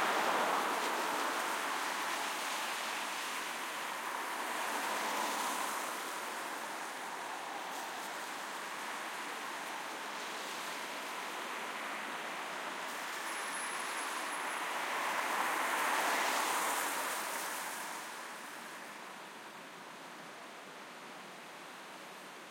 0.0s cars passing by 19.8s

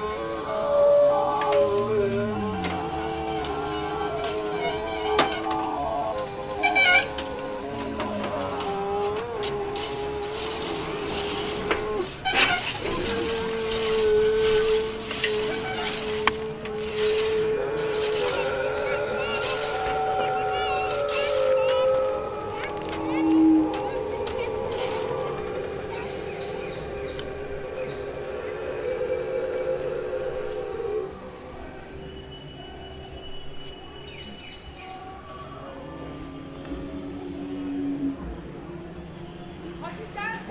0.0s chant 39.8s
9.4s birds 40.5s

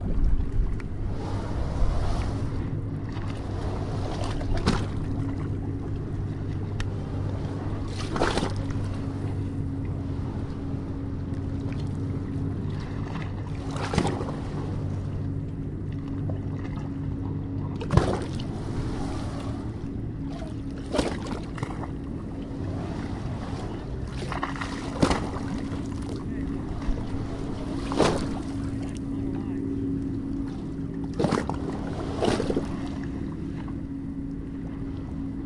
0.0s Low drone of a motorized boat 35.4s
0.0s river is splashing against the pier 35.4s

